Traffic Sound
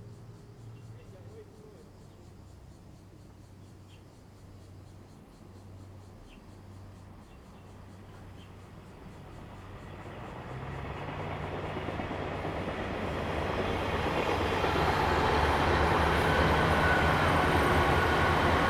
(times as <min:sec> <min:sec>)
0:09.2 0:18.6